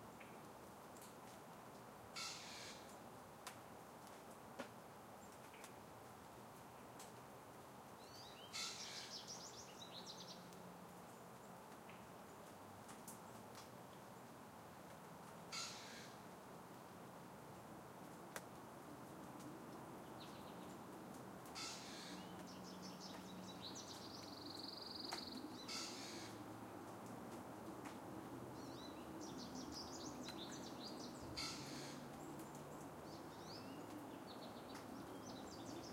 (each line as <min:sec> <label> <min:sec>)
0:02.2 Pine Warbler 0:03.0
0:08.0 Pine Warbler 0:10.4
0:14.6 far-off traffic 0:35.9
0:15.5 Pine Warbler 0:16.2
0:21.6 Pine Warbler 0:26.4
0:28.6 Pine Warbler 0:35.9